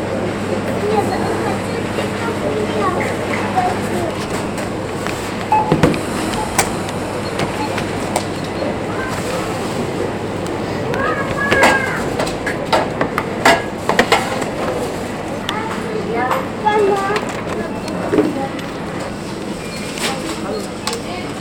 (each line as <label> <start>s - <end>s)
cash register 1.0s - 10.1s